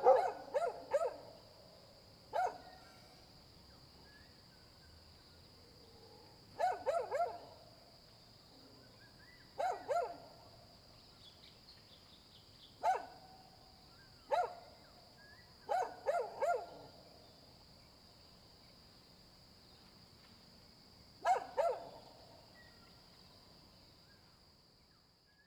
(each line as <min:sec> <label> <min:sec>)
0:00.0 Dogs barking 0:01.3
0:02.4 Dogs barking 0:02.7
0:06.6 Dogs barking 0:07.4
0:09.6 Dogs barking 0:10.2
0:12.8 Dogs barking 0:13.2
0:14.3 Dogs barking 0:14.6
0:15.7 Dogs barking 0:16.8
0:21.2 Dogs barking 0:22.0